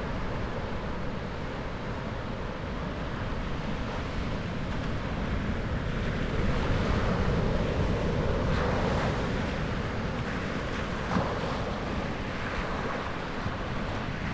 0.0s much weaker surf 14.3s

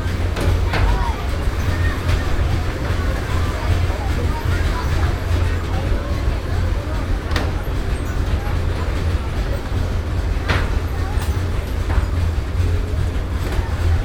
0.0s Luggage arriving on the baggage reclaim conveyor belt 14.0s

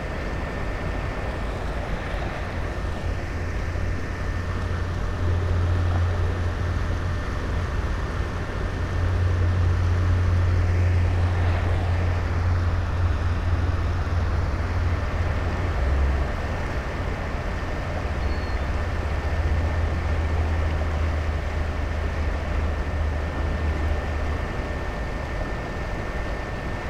0.0s distant traffic 25.7s
18.1s river gulls 19.0s

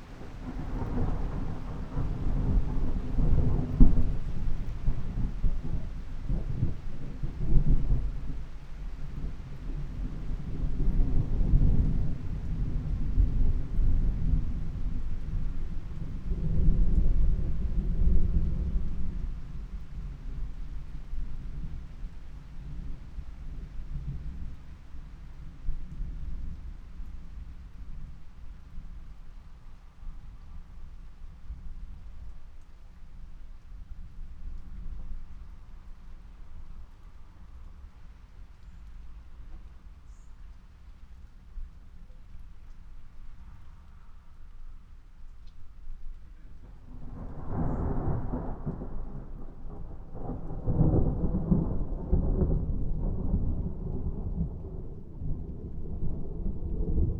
0.0s thunderstorm 32.3s
46.0s thunderstorm 57.1s

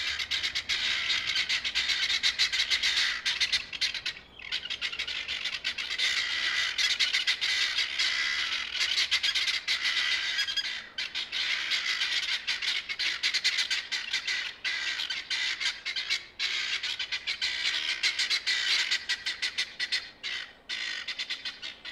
0.0s Guinea Fowl roosting for the night 21.9s

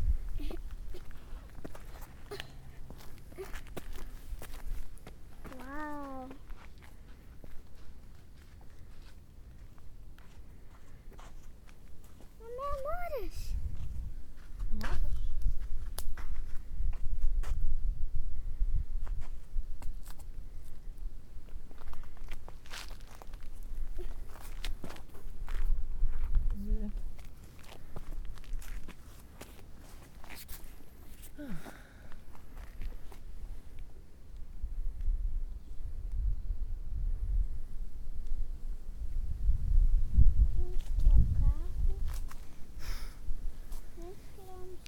43.9s children and adults talking 44.8s

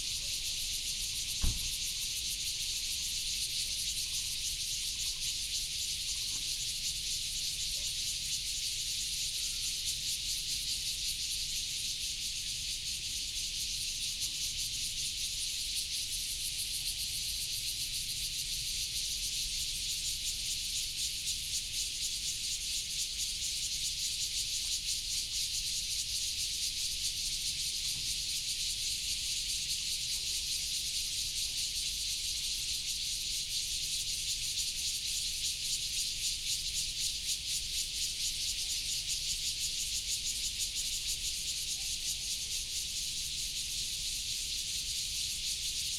0.0s Cicadas 45.9s

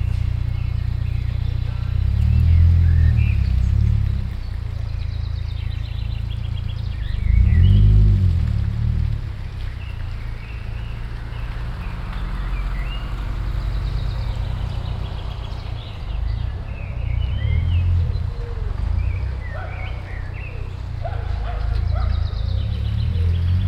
0.0s sparrow 8.5s
0.0s bicycles 23.6s
0.0s pedestrians 23.6s
0.0s slow cars 23.6s
9.2s sparrow 23.6s
9.4s blackbird 23.6s
19.5s barking dogs 20.1s
21.0s barking dogs 22.5s

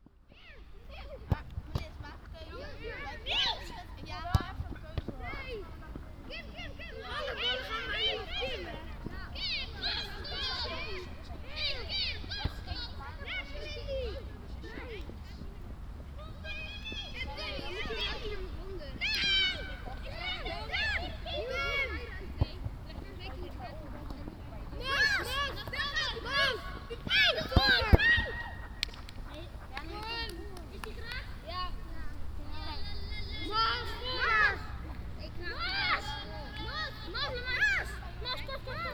0.0s schoolchildren playing soccer 38.9s

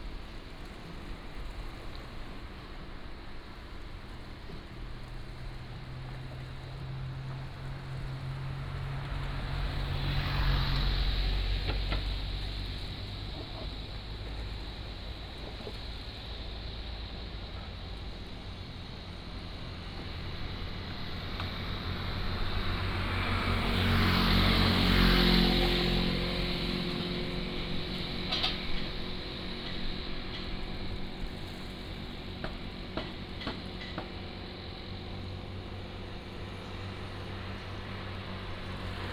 3.5s Traffic Sound 39.1s

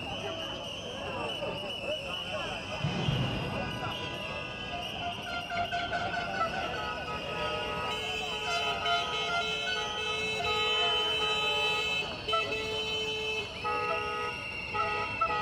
0.0s Horns, klaxons 15.4s

